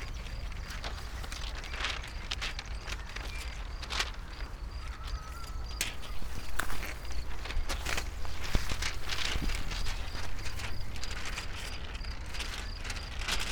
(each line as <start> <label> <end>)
0.0 wind unfolds scroll books 13.5
5.9 scroll lying in high grass 11.4